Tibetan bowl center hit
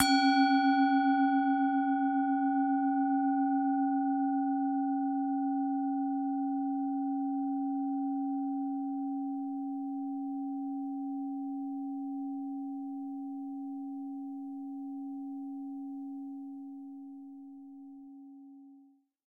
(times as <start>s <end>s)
0.0s 1.4s